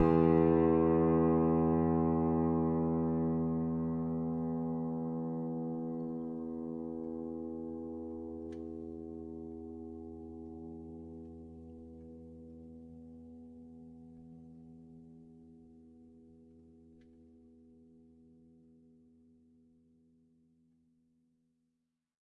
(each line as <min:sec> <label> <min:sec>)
0:00.0 piano strings played with a finger 0:10.2